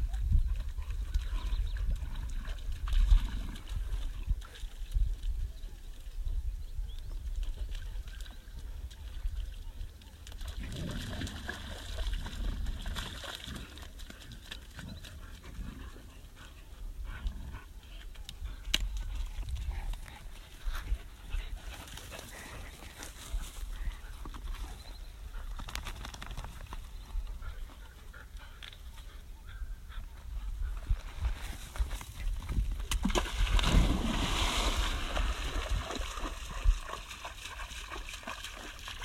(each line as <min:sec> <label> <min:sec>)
0:00.0 wind 0:39.0
0:21.2 birds 0:32.4
0:32.8 splashing 0:39.0